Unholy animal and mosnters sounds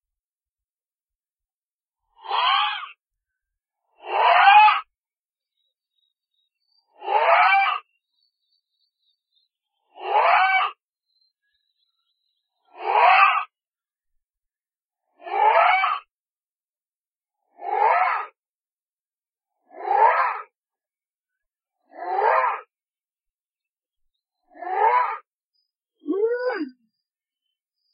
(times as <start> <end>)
2.0 3.0, 3.8 13.6, 15.0 16.1, 17.4 18.4, 19.5 20.6, 21.7 22.7, 24.3 27.9